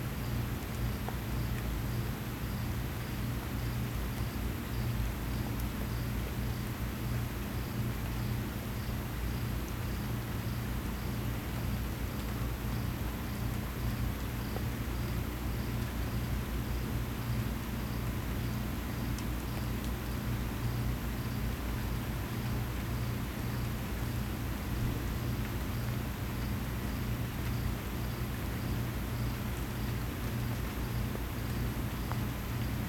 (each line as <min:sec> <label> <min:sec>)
0:09.5 Rain 0:32.8